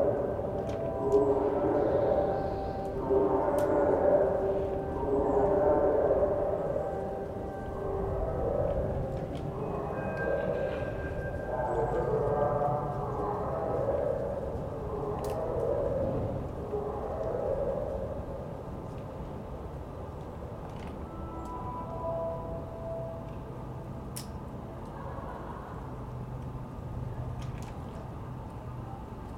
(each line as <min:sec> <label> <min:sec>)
0:00.0 alarming sound of sirens 0:19.4